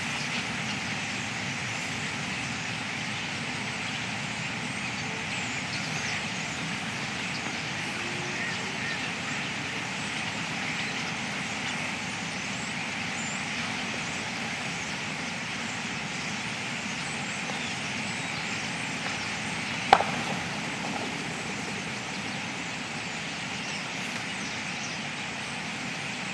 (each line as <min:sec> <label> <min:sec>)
0:00.0 Greylag geese flew over 0:26.3
0:00.0 Mallard and other wildfowl 0:26.3
0:00.0 Starlings coming in to roost after murmuration 0:26.3
0:00.0 light aircraft 0:26.3